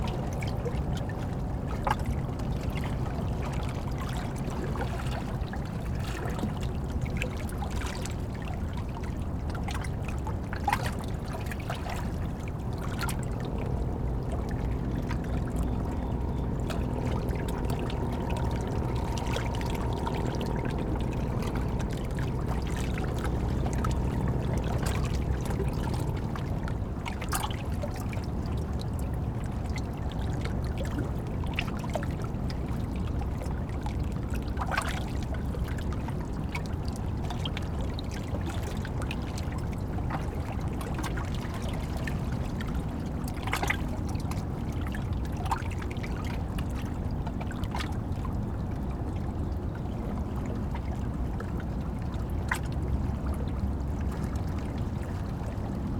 0.0s Hudson River 55.9s

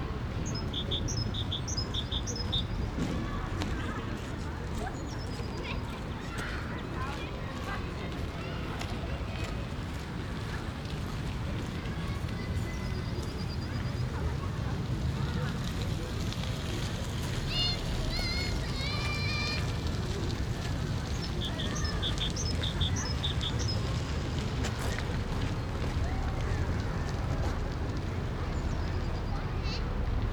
0.0s Lot of people out in the parc 30.3s
0.0s Street traffic 30.3s
0.1s children playing 30.3s

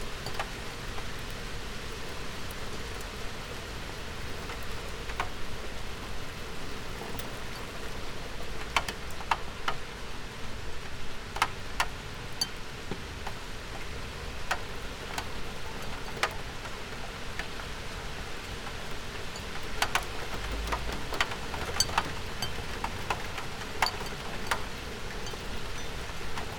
0.0s rain 26.5s
25.2s porcelain tea cups 26.5s

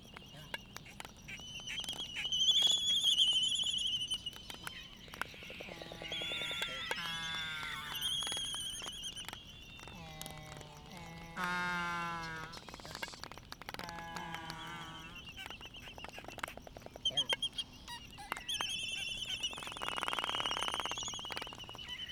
0.0s Laysan albatross dancing 22.1s
0.0s calls from bonin petrels 22.1s
0.0s slight breeze 22.1s

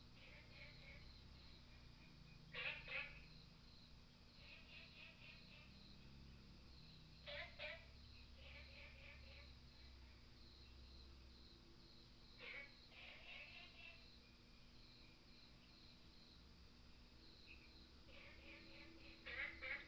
0.0s Frogs sound 19.8s

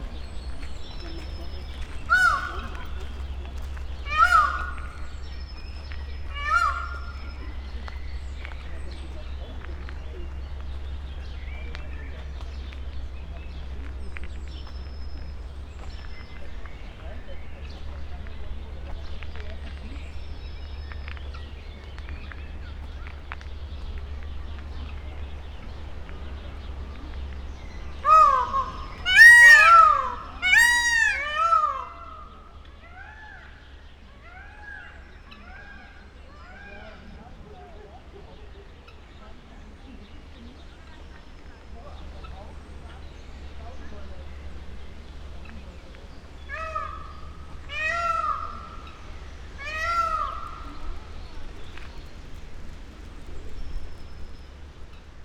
0.0s bird 55.2s
0.0s wind 55.2s
2.1s peacock screams 2.8s
4.1s peacock screams 5.0s
6.4s peacock screams 7.2s
28.0s peacock screams 32.3s
46.5s peacock screams 48.9s
49.6s peacock screams 50.8s

